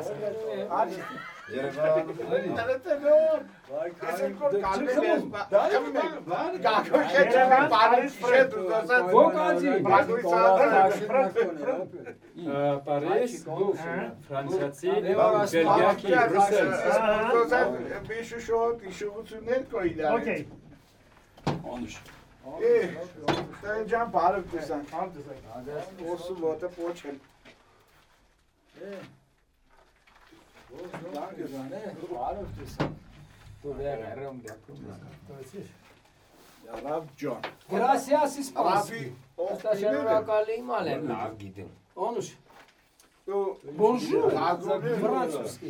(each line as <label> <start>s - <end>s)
everybody discuss 0.0s - 45.6s